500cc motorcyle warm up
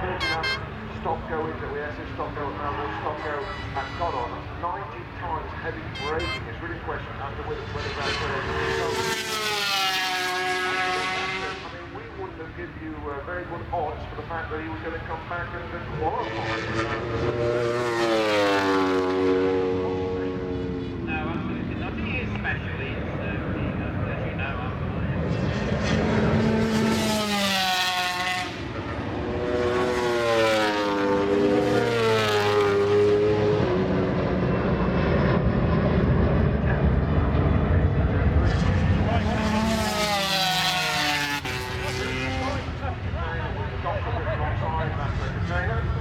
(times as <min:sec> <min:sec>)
0:07.5 0:12.4, 0:15.1 0:22.3, 0:24.9 0:46.0